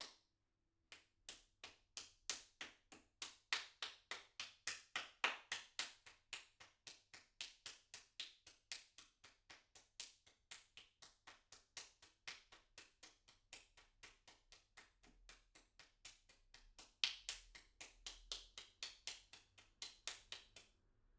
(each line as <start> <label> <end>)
2.3 Applause 12.7